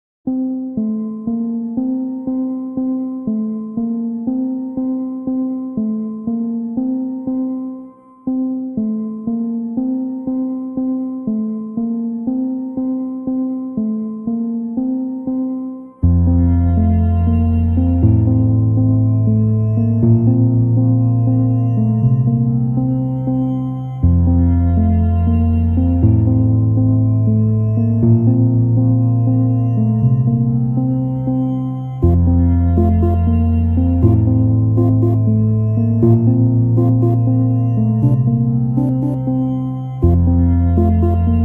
strings 16.0 - 41.4

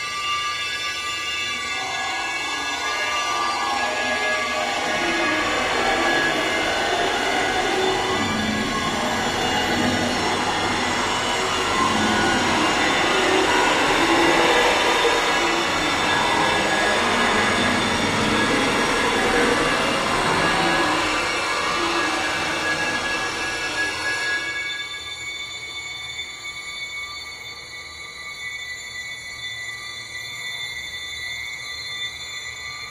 High string intense suspense 1.0 - 24.7

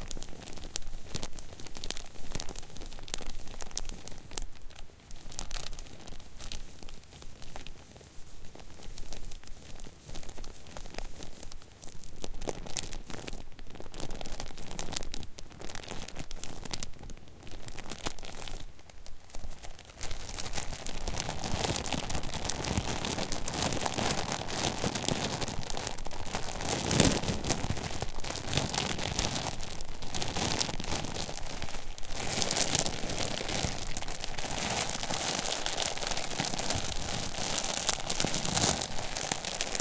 Plastic bag 0.0 - 39.8

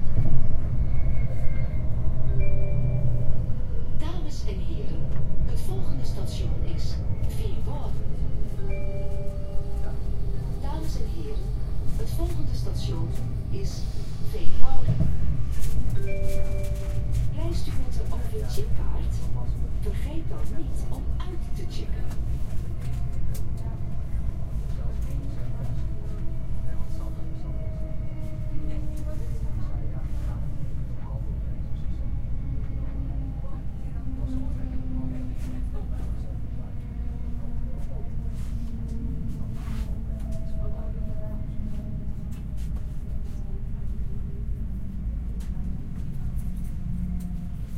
Train pulls up from a station 0.0 - 47.7
people speak 4.0 - 8.1
people speak 8.7 - 15.2
people speak 16.6 - 42.4

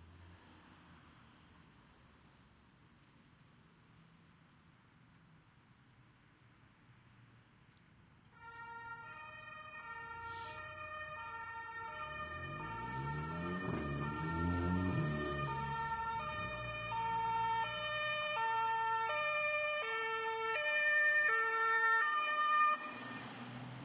Fire engine Sirens 8.3 - 23.8

